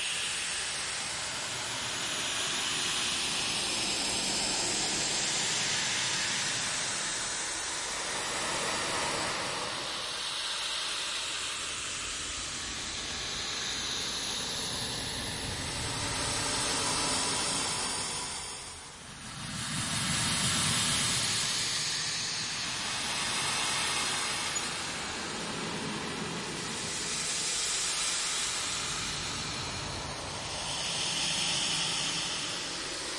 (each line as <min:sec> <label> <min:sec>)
0:11.8 electric wind 0:33.1